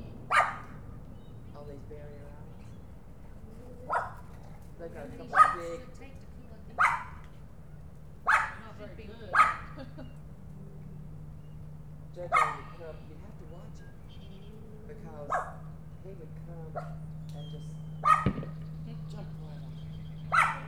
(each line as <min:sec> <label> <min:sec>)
0:00.0 family's conversation 0:20.6
0:12.4 hunters 0:20.6